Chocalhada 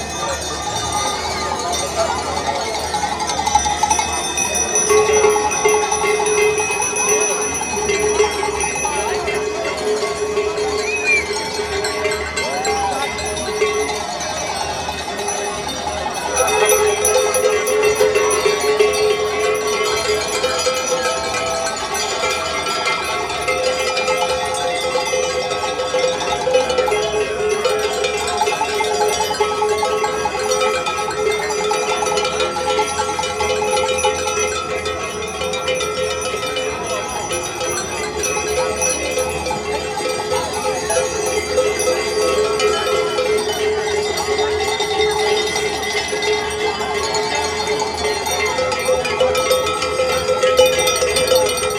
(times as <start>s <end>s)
10.8s 11.6s